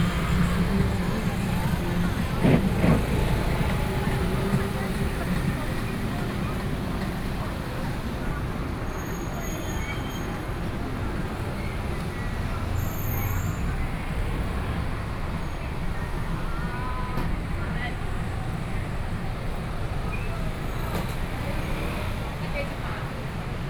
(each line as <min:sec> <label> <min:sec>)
0:00.0 Traffic Sound 0:23.6
0:00.0 walking in the traditional market 0:23.6